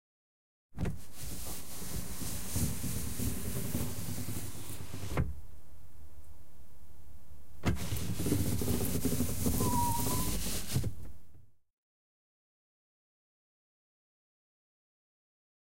0.8s Car, Window Wound Down And Up 5.4s
7.6s Car, Window Wound Down And Up 11.2s

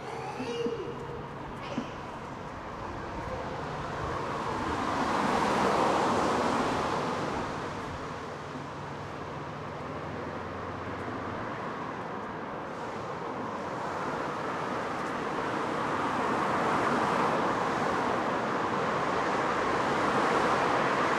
0.0s homeless man making noise 4.2s
0.0s wet traffic 21.1s

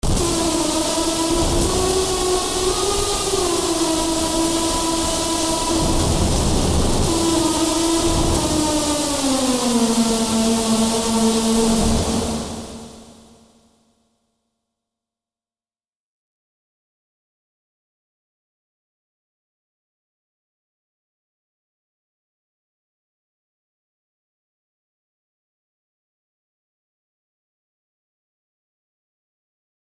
0.0s synth 13.6s

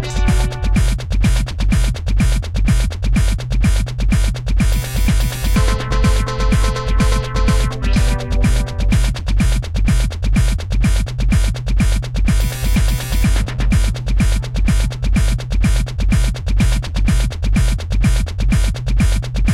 0.0s synth 0.8s
0.0s bass 19.5s
0.0s drum 19.5s
4.8s synth 9.1s

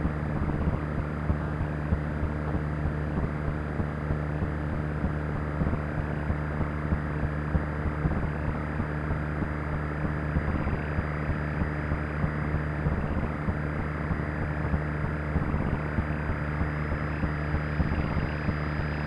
2.5s static radio fuzz 19.0s

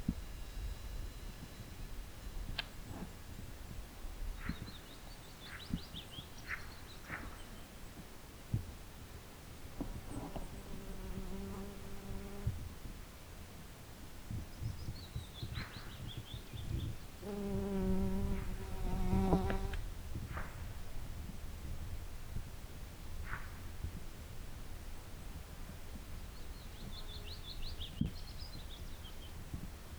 9.7s bee 12.8s
9.8s fly 12.7s
15.4s bee 19.8s
16.5s fly 19.8s

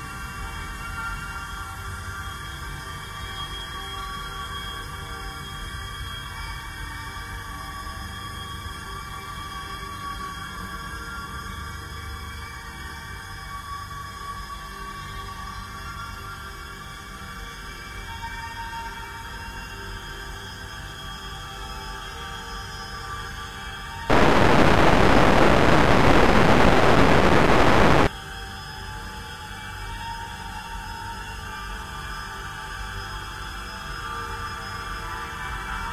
24.1s heavily reverberated distortion 28.1s
24.1s slowly evolving dreamy ambient drone pad 28.1s

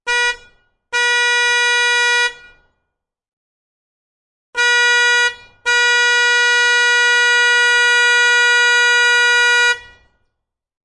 0.0s school bus truck horn honk 2.7s
4.6s school bus truck horn honk 10.2s

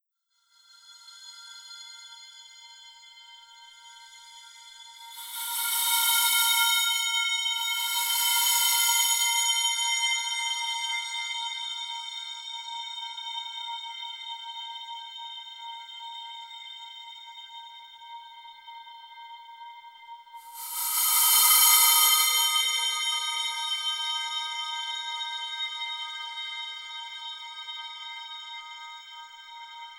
5.0s Cymbal Swell 10.8s
20.4s Cymbal Swell 25.8s

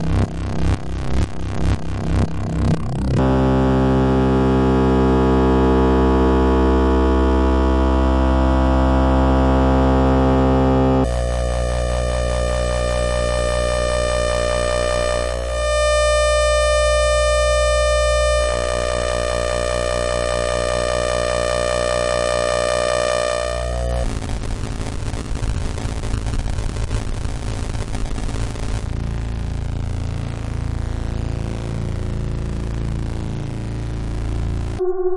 0.0s Vector Synthesis 11.2s
34.8s Vector Synthesis 35.1s

